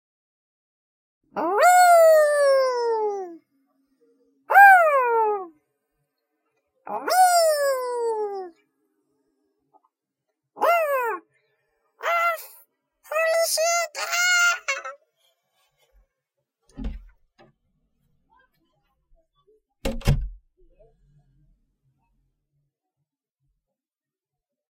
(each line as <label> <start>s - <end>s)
weeeeee 1.4s - 3.4s
weeeeee 4.5s - 5.5s
weeeeee 6.9s - 8.6s